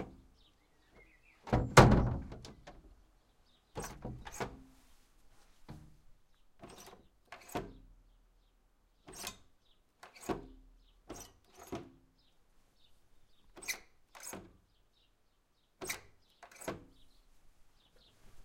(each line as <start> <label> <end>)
1.4 wood shutter inner door with antique handle lock 2.8
3.7 wood shutter inner door with antique handle lock 4.6
6.6 wood shutter inner door with antique handle lock 8.0
9.0 wood shutter inner door with antique handle lock 12.1
13.5 wood shutter inner door with antique handle lock 14.8
15.8 wood shutter inner door with antique handle lock 17.0